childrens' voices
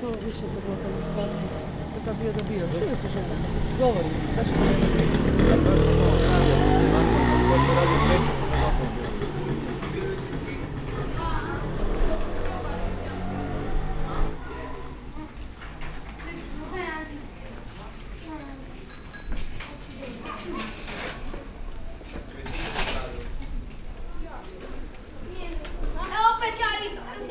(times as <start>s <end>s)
3.0s 17.4s, 19.7s 21.3s, 24.2s 27.3s